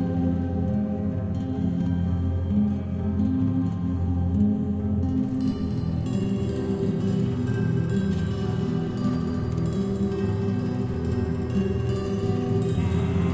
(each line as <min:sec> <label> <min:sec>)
0:00.0 guitar 0:13.3
0:10.4 choir 0:13.3